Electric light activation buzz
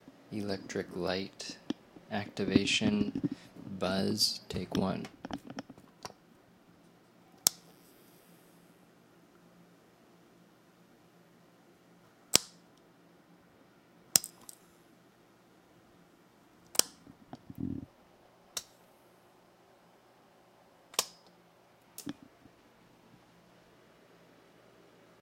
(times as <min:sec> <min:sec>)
0:07.3 0:08.6